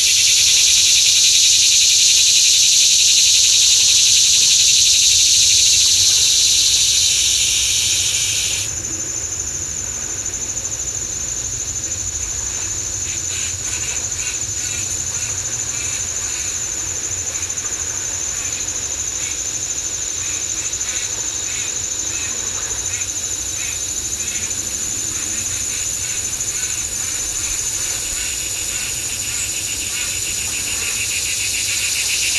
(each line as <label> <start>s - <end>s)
bugs 0.0s - 32.3s